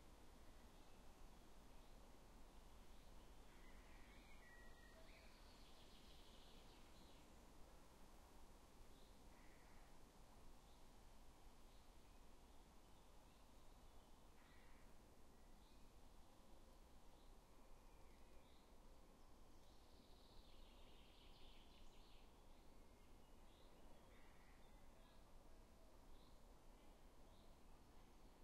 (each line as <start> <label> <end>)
0.0 wind&leaves 28.4